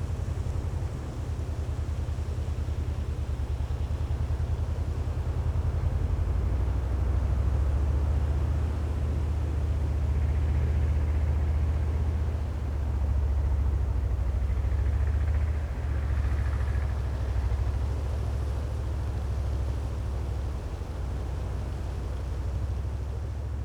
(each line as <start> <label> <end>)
0.0 tractor working in the distance 23.6